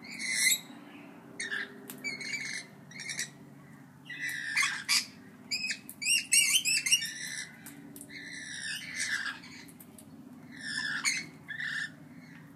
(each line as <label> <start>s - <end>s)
Rainbow Lorikeet Parrots fighting with loud shrills 10.5s - 11.9s